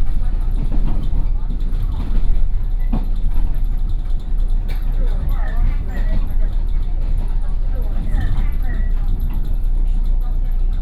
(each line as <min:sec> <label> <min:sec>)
0:00.0 railcar 0:10.8